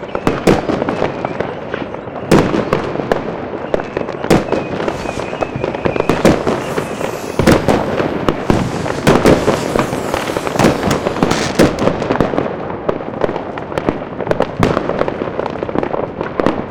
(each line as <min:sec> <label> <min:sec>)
0:00.0 Massive Fireworks 0:16.7